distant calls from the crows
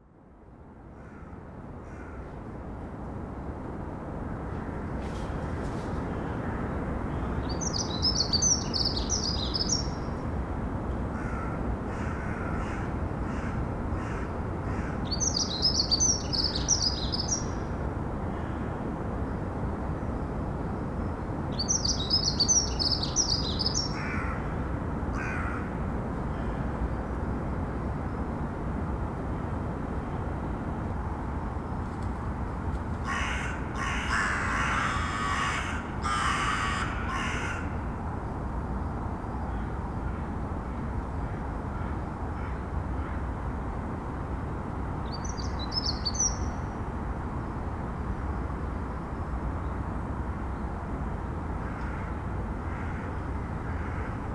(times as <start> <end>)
0.9 2.4, 11.1 17.4, 21.6 24.6, 25.2 26.6, 33.0 37.9, 41.2 43.3, 51.6 54.3